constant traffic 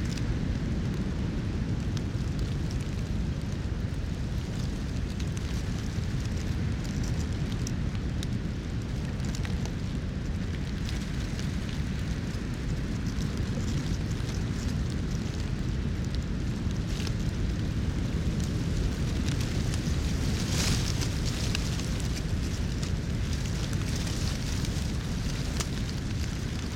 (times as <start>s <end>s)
10.0s 26.7s